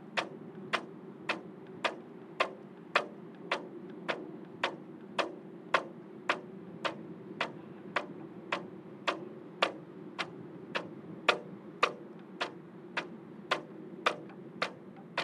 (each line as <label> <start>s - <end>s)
Flag in the wind 0.0s - 15.2s